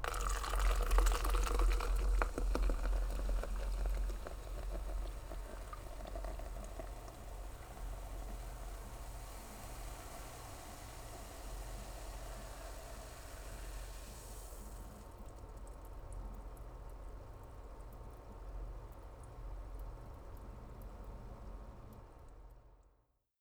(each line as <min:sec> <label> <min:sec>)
0:00.0 soda can pouring into plastic cup 0:16.1
0:00.0 carbonated bubbling 0:22.5